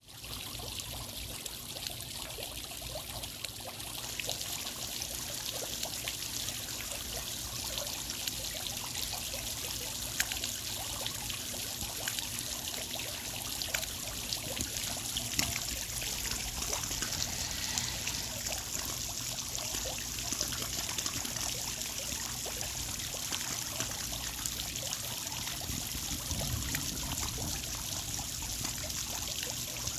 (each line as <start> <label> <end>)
3.3 Water sprinklers trickling 29.9